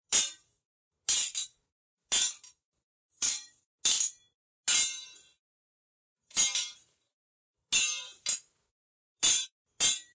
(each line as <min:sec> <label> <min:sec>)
0:00.1 swords clashing 0:00.5
0:01.1 swords clashing 0:02.6
0:03.2 swords clashing 0:05.4
0:06.3 swords clashing 0:06.9
0:07.7 swords clashing 0:08.5
0:09.2 swords clashing 0:10.1